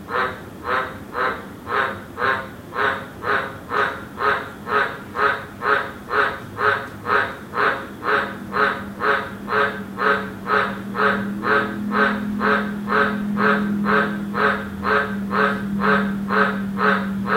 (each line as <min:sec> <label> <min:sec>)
0:00.1 Cane toad call 0:17.3
0:08.3 traffic 0:17.3